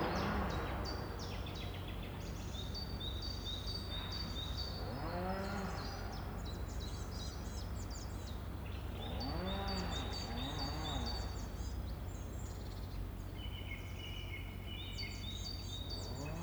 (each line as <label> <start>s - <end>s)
Chain saws reverberate amongst trees 8.0s - 12.3s